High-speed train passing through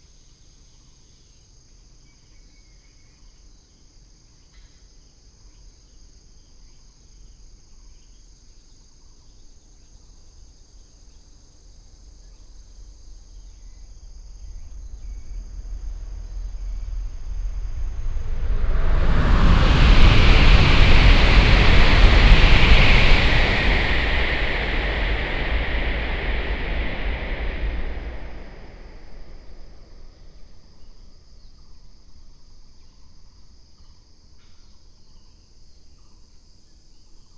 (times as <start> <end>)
13.3 30.6